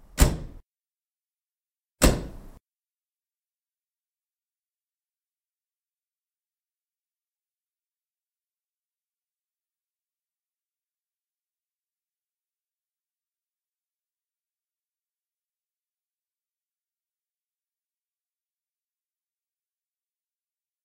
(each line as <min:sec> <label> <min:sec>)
0:00.0 driver side door of an MG-B being closed 0:00.6
0:02.0 driver side door of an MG-B being closed 0:02.6